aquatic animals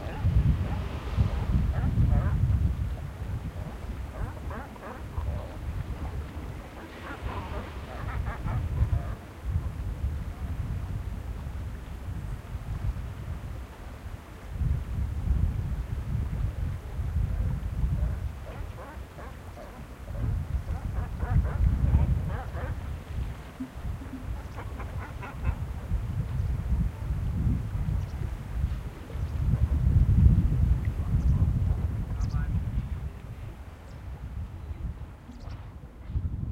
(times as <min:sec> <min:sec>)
0:00.0 0:09.8, 0:18.0 0:26.0